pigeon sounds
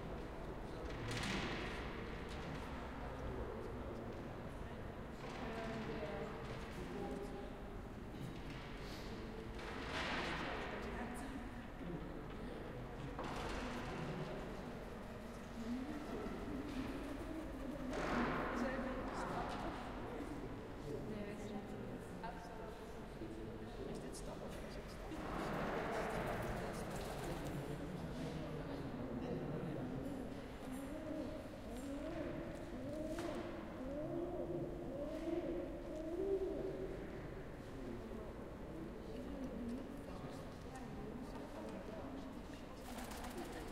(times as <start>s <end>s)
29.9s 38.1s